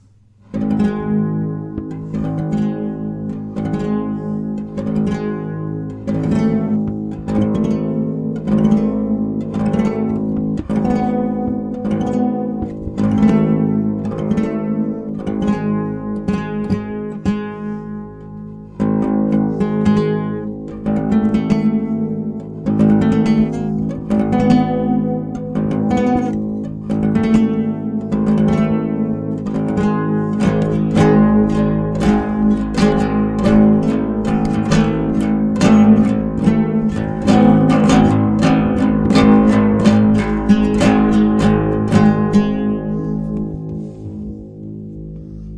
0.0s guitar 45.5s

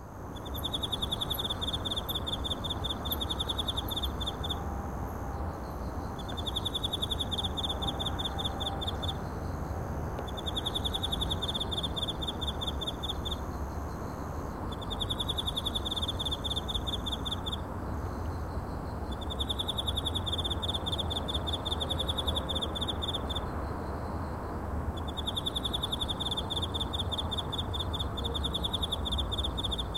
0.0s chinese cricket 29.9s
0.0s faint sounds of the city 29.9s

